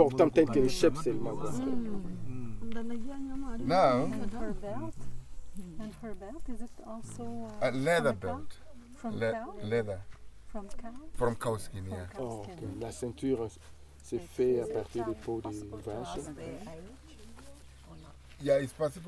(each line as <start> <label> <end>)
0.0 guide translates for us chief's questions 1.7
0.0 greeting her 11.5
11.2 guide translates for us chief's questions 17.2